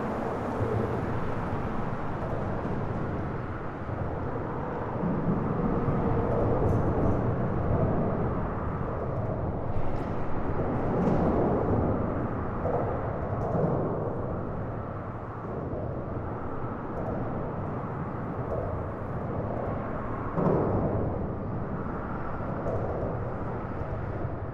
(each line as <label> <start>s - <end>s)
freeway underpass 0.0s - 24.5s